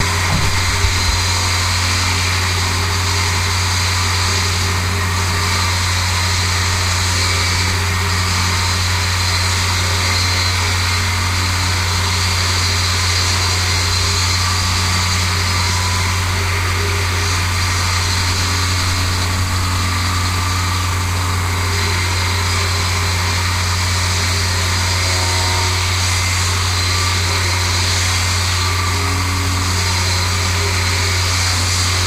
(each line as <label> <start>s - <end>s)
roadworks 0.0s - 4.3s